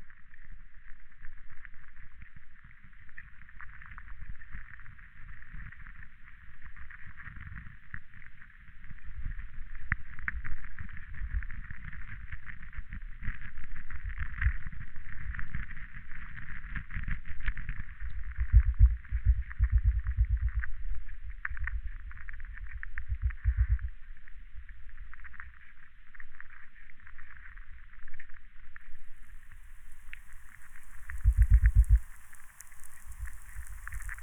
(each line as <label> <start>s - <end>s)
underwater 0.0s - 34.2s
atmospheric electricity 29.1s - 34.2s